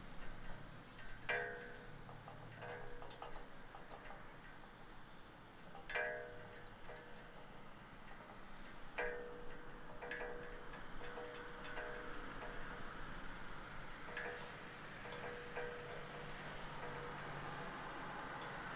0.0s Flag poles playing in the wind 18.7s

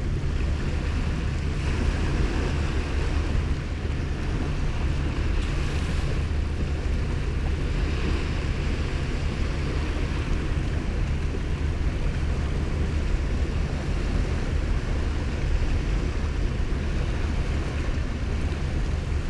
0.0s sea 19.2s

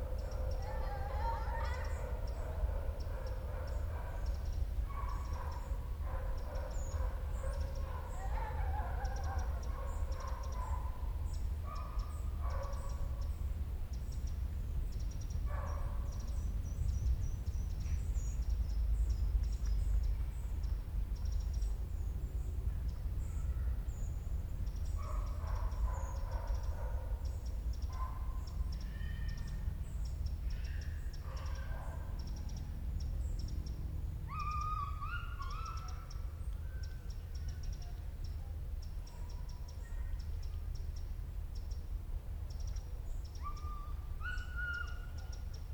0.0s birds 45.7s

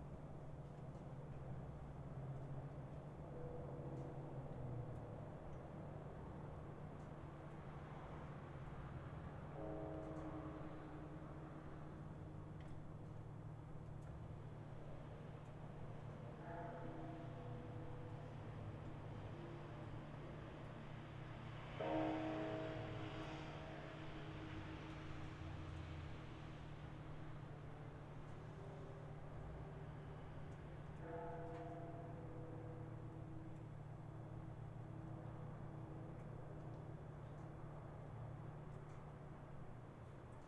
16.4s temple bells 19.0s
31.0s temple bells 33.7s

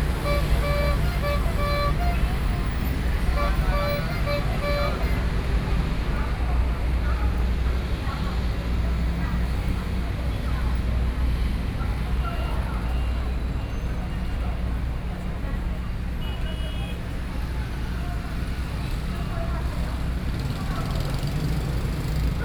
0.0s Selling ice cream 6.1s

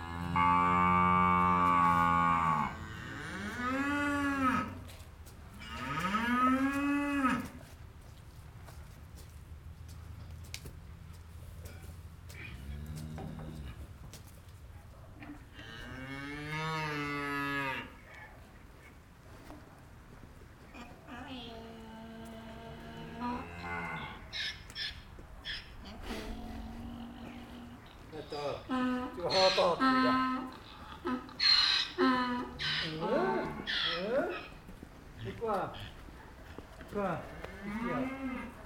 0.0s Cows are hungry as always 38.6s

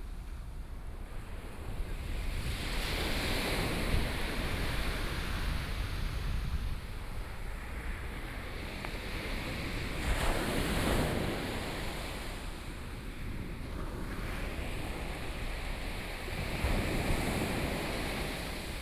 1.3s waves 18.8s

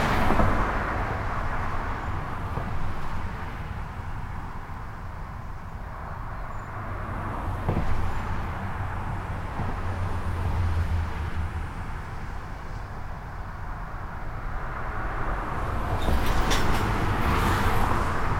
0.0s dense trafic on the local highway 18.3s

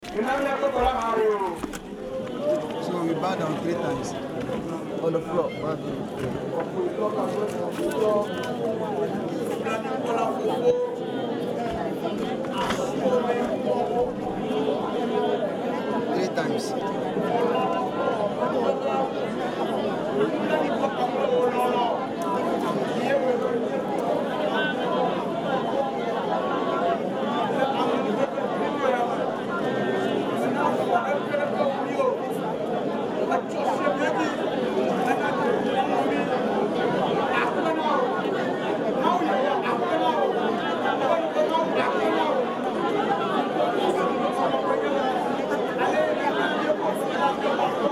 0.0s everybody gets on his knees to pray 5.2s

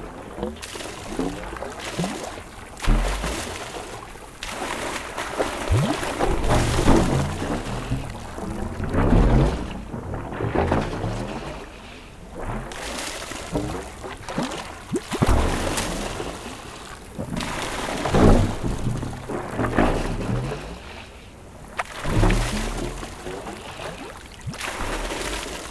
0.0s pipes make strange mad sounds of reflux 7.8s
0.0s Mad pump 8.1s
0.0s river, where water is thrown 25.7s
12.6s Mad pump 19.6s
12.7s pipes make strange mad sounds of reflux 19.1s
21.5s Mad pump 25.7s
21.8s pipes make strange mad sounds of reflux 25.7s

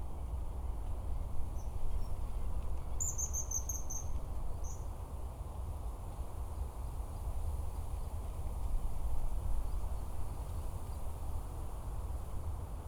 0.0s Wind 12.8s

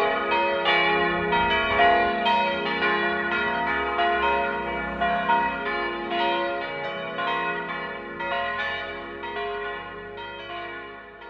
0.0s churchbells 11.2s

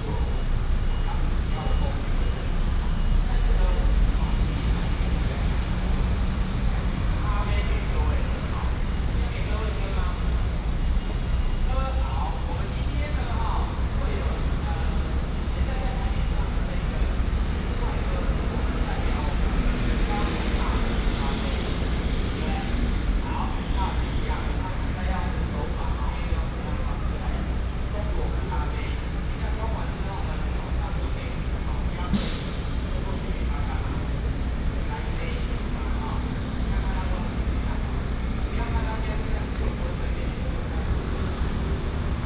0.0s Traffic sound 42.2s

